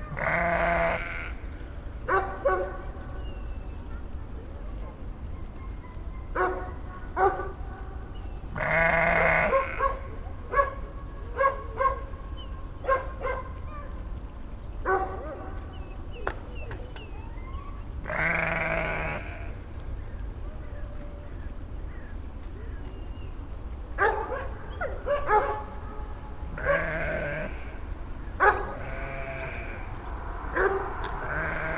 0.1s bleating 1.4s
6.4s barking 7.6s
8.6s bleating 9.8s
8.6s barking 12.1s
12.8s barking 13.9s
14.9s barking 15.7s
18.0s bleating 19.6s
24.0s barking 27.6s
26.5s bleating 27.8s
28.4s barking 29.7s
28.8s bleating 29.9s
30.5s barking 31.7s
31.2s bleating 31.7s

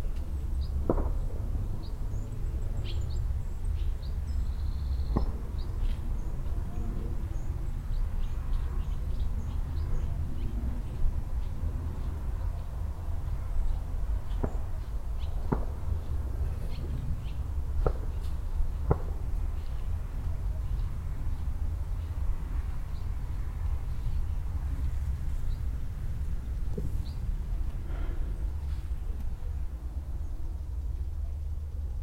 0.8s several group of shots in the distance 1.4s
5.1s several group of shots in the distance 5.5s
15.4s several group of shots in the distance 16.1s
18.8s several group of shots in the distance 19.4s

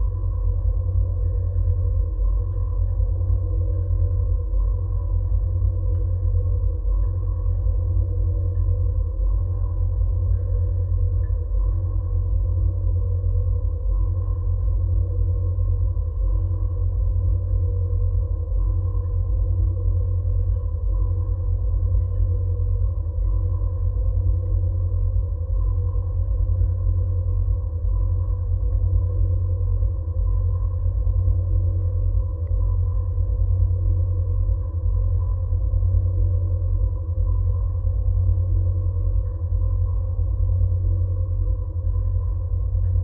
0.0s tower drone 43.0s

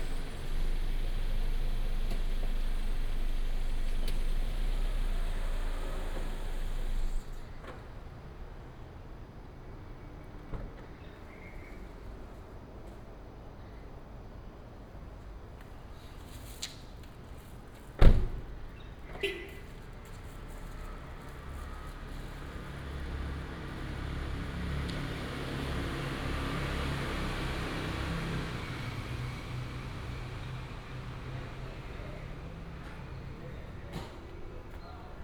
0.0s Traffic sound 35.2s

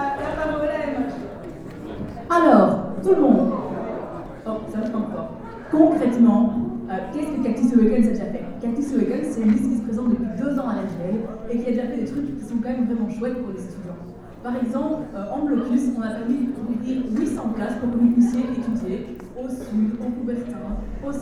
0.0s Students trade union presents their programm 21.2s

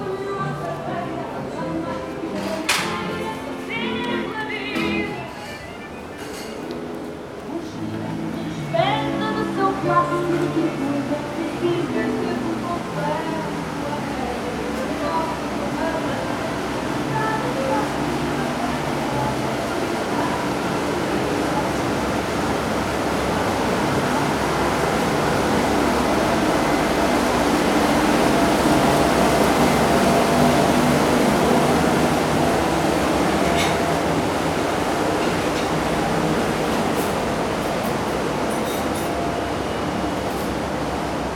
0.0s tourists enjoying the day 41.3s
0.0s walking on the promenade 41.3s

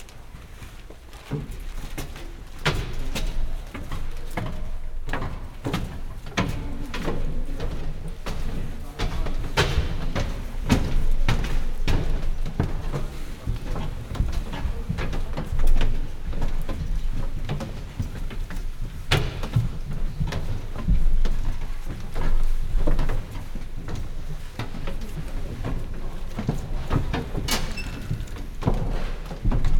0.0s choir singers walking up the wooden stairs 29.7s

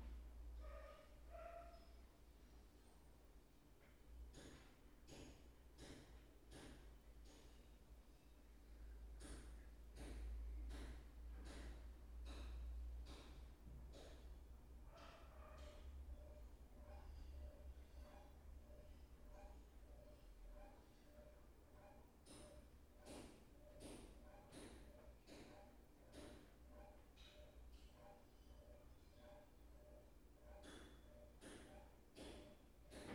31.7s washing machine 33.1s

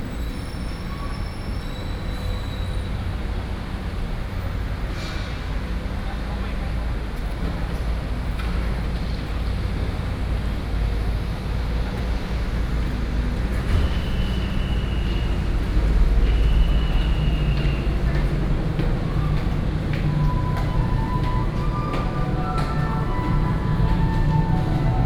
0.0s traffic sound 25.0s
7.9s Air conditioning noise 25.0s
11.9s Street performers 25.0s
16.6s Footsteps 25.0s

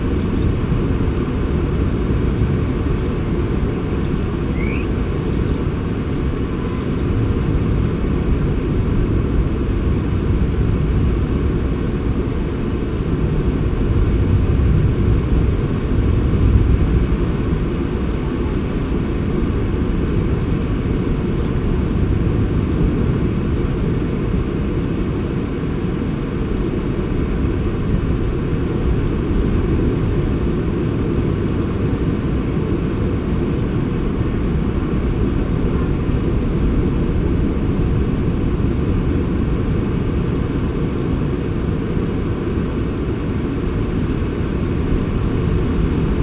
0.0s sand martins under the cliff 8.7s

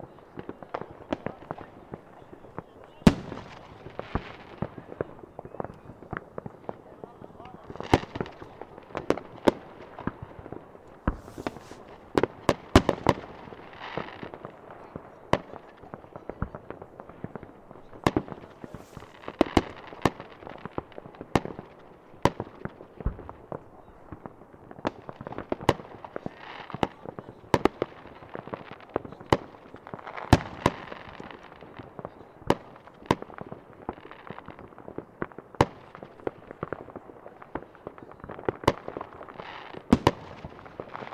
0.0s talks near microphone 8.8s
0.0s Fireworks 41.1s

